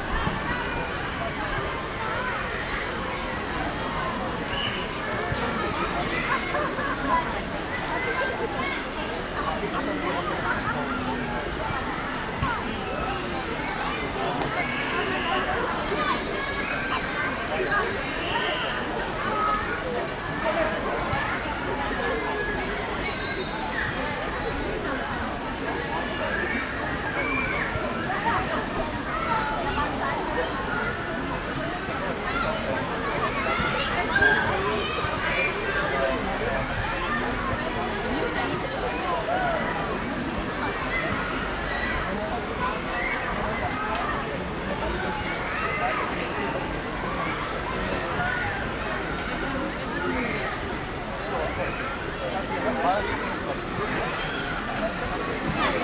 full of people 0:00.0 - 0:55.8

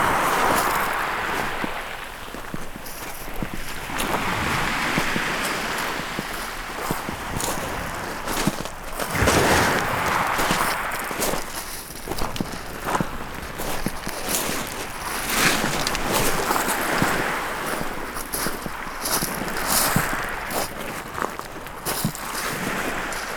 Walking on the shingle beach 0:00.0 - 0:23.3

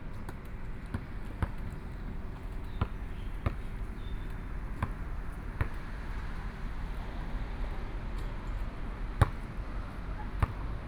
Playing basketball 0:00.4 - 0:07.3
Birdsong 0:02.6 - 0:04.7

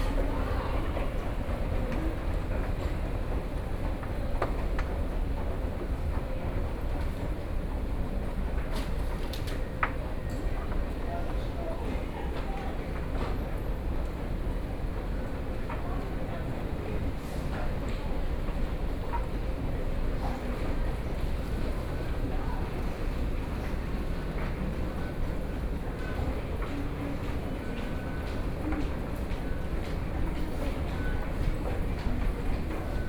walking in the street 0:12.9 - 0:33.0

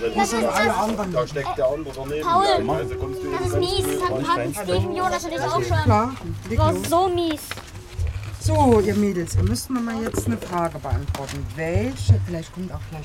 passanten 0:01.4 - 0:06.4
verkehr 0:01.4 - 0:12.3
kinderstimmen 0:02.1 - 0:06.9

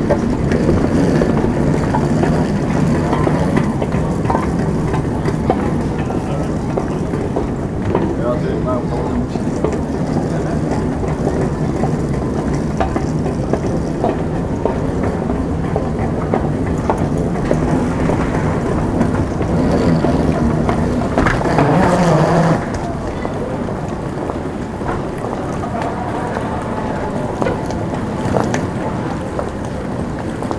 passengers arriving at the terminal and carrying trolleys 0:00.0 - 0:30.5
sliding carpets 0:15.0 - 0:23.2

